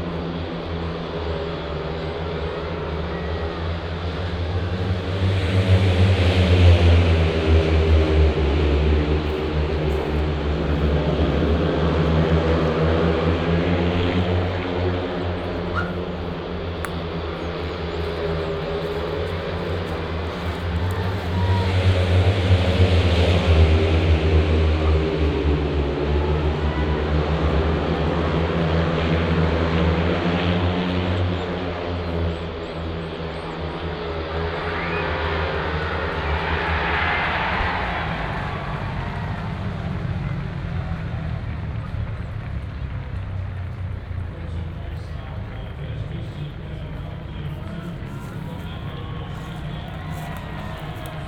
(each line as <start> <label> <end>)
0.0 fans cheering 51.2
0.0 roar of the engines 51.2
44.2 announcer summarizes the race 51.2